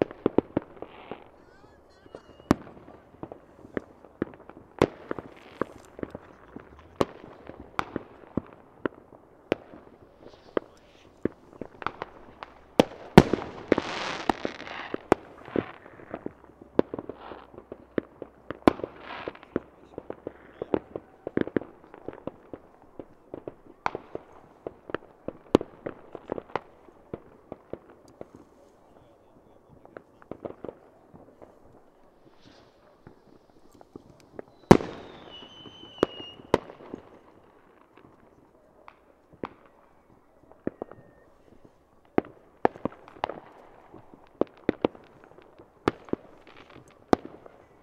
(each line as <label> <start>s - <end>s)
Fireworks 0.0s - 47.8s
people shouting 1.3s - 3.0s
talks near microphone 1.4s - 3.0s